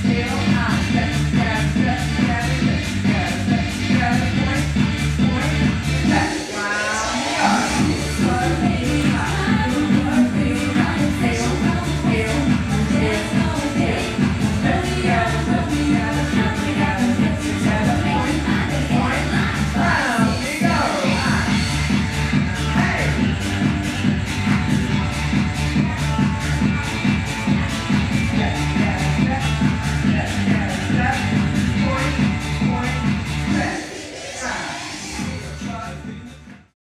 Dancing 0.0 - 36.6

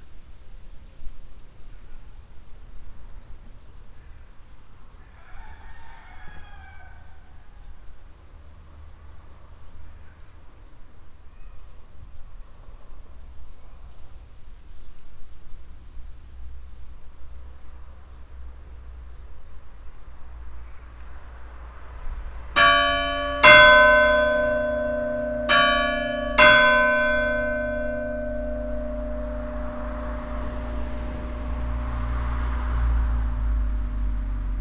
rooster call 5.0 - 7.6
rooster call 22.6 - 33.8
bells 22.6 - 34.1

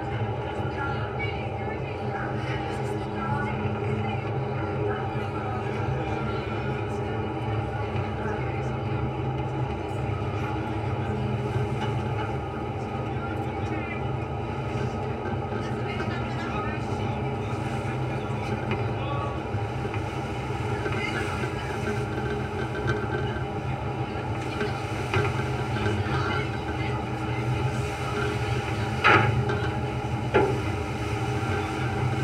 ferry boat railing vibrations 14.4 - 32.2

